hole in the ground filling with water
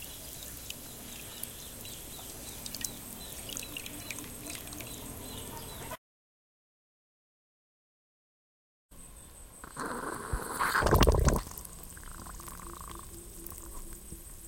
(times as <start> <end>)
0.0 5.3, 9.6 14.4